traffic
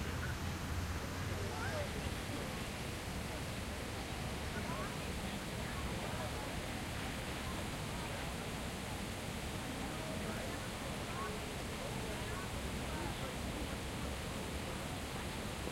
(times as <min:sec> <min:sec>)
0:00.0 0:02.7